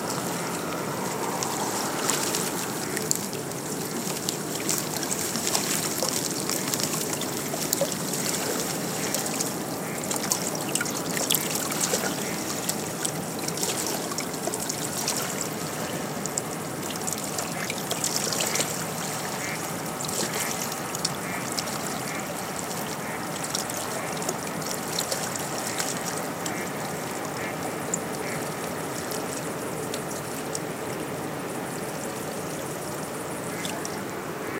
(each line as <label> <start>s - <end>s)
waves from a ferry wake washing onto the rocky shoreline 0.0s - 34.5s